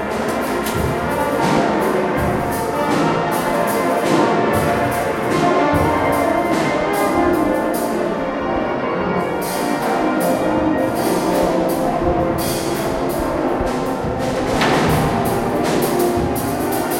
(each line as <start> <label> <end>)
0.0 Tuning from two bands rehearsing 16.9